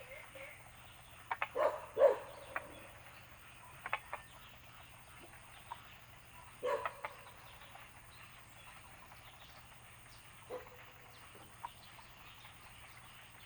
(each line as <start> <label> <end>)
0.0 Bird sounds 13.4
0.0 Frogs chirping 13.4
1.4 Dogs barking 3.0
6.6 Dogs barking 7.4
10.5 Dogs barking 11.0